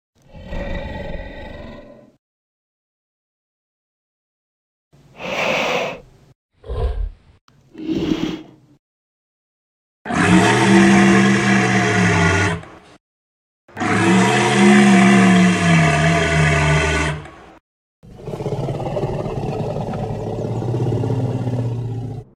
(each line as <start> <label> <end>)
0.2 dinosaur 2.2
6.6 dinosaur 8.6
10.1 dinosaur 12.9
13.7 dinosaur 22.3